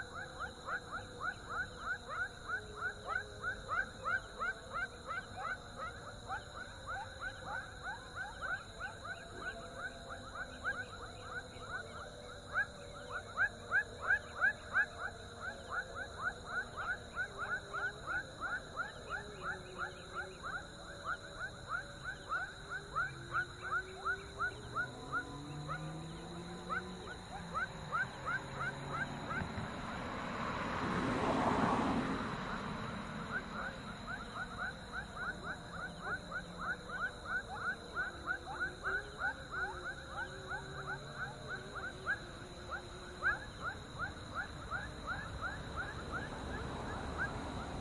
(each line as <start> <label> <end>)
0.0 prayer 27.5
0.0 car 47.8
0.0 frogs 47.8